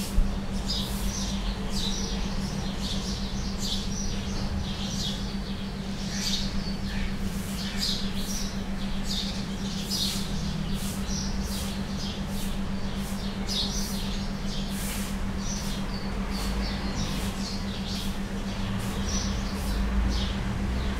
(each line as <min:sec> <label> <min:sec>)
0:00.0 bird sound 0:20.9
0:00.0 generator mysteriously humming in background 0:20.9